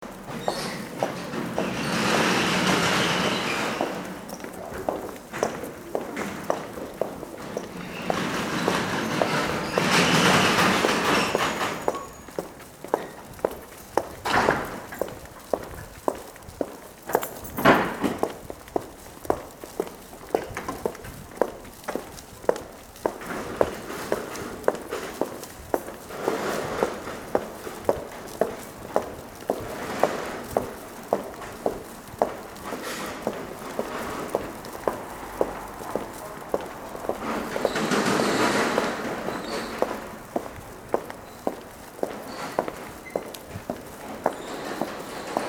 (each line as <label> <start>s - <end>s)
rolling shutters closing with their noisy crack 0.0s - 45.4s
woman walks 0.0s - 45.4s
doors are locking 7.5s - 13.2s
doors are locking 14.2s - 15.2s
doors are locking 17.1s - 18.2s